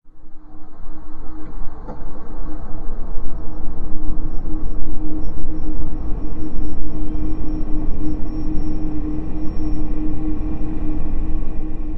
white noise 0:00.1 - 0:11.9

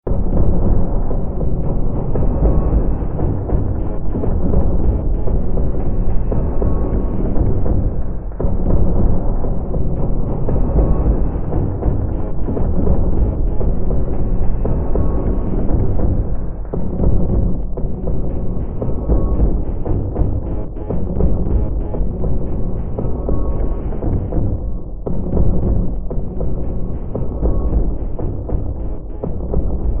Drone 0:00.0 - 0:30.0

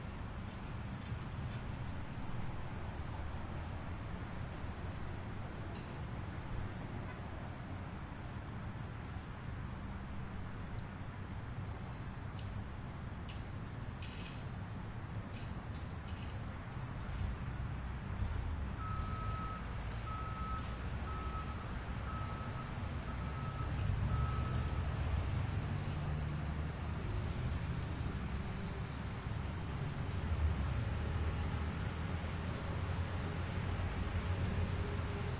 cars 0:00.0 - 0:35.3
city street 0:00.0 - 0:35.3
machines working and backing up 0:15.4 - 0:35.3

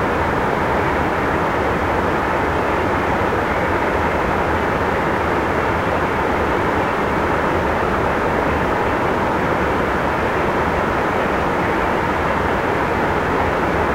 meltwater at a series of small waterfalls 0:00.0 - 0:13.9

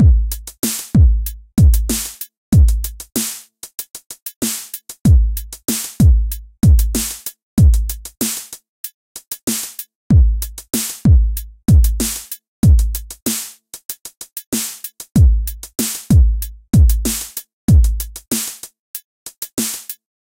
80s hiphop loop 0:00.0 - 0:03.1
80s hiphop loop 0:04.8 - 0:08.2
80s hiphop loop 0:10.1 - 0:13.2
80s hiphop loop 0:15.2 - 0:18.2

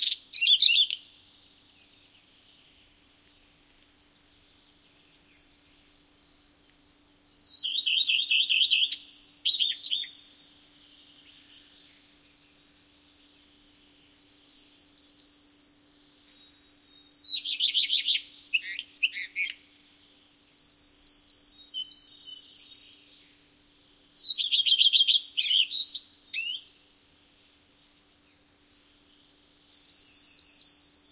other birds faintly in the bg 0:00.0 - 0:31.1

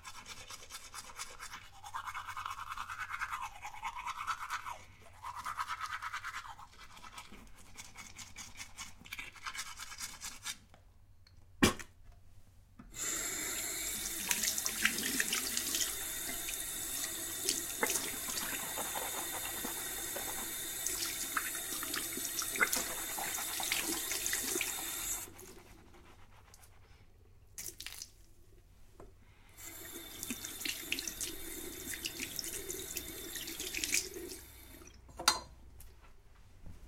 brushing the teeth 0:00.0 - 0:10.7
flushing the mouth 0:12.9 - 0:25.4
brushing the teeth 0:13.0 - 0:26.8
flushing the mouth 0:29.6 - 0:35.0

